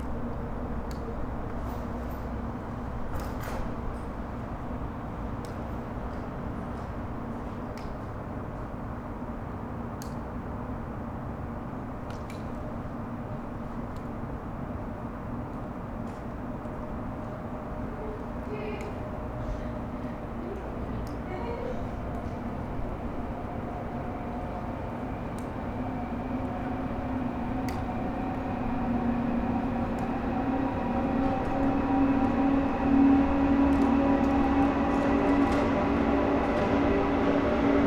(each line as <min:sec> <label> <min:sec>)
0:00.0 trains 0:37.8
0:17.1 people leaving the building 0:37.8